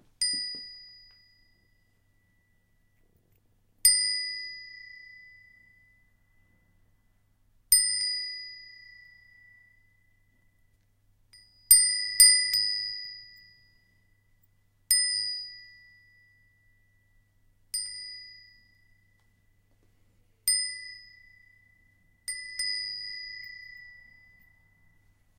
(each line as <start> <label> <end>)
0.1 small bell 25.3